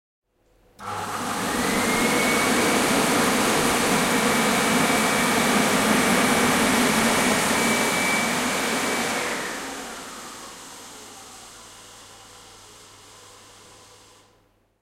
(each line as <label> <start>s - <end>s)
hand dryer 0.8s - 14.4s